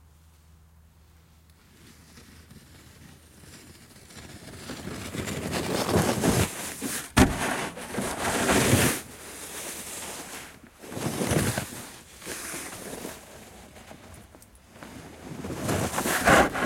1.6s rasping of the snow pusher in the snow 16.6s

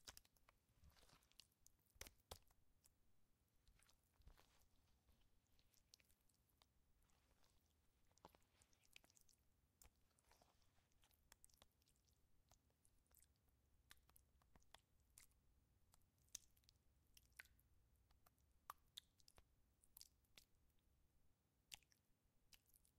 0.0s Slime in a plastic bowl 22.9s

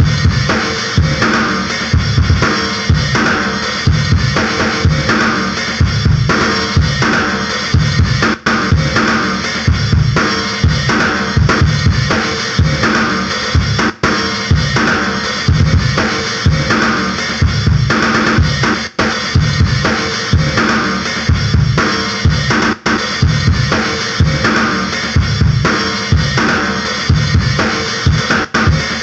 0.0s drumbeat 29.0s

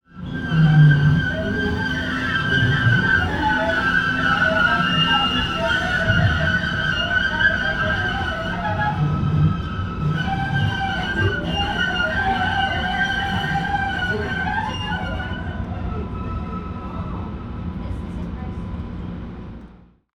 0.0s train in downtown Boston screeching as it rounds a corner 20.0s

